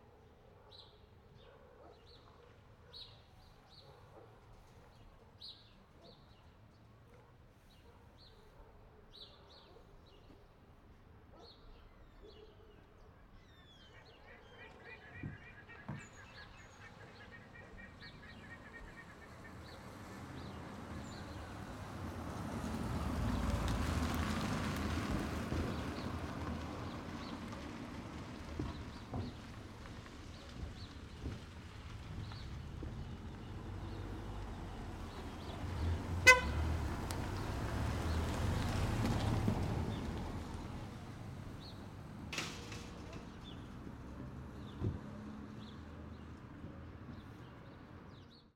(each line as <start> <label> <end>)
0.0 DOG 10.5
11.1 DOG 15.0
18.0 CAR PASSING 46.6